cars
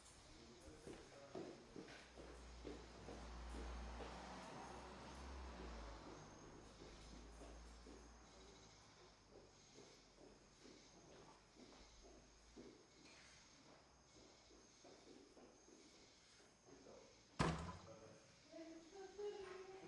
0.0s 15.0s

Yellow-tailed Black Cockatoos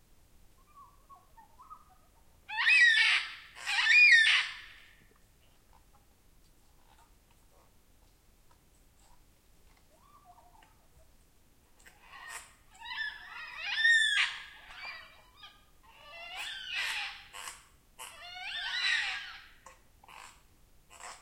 0.6s 5.1s, 11.8s 21.2s

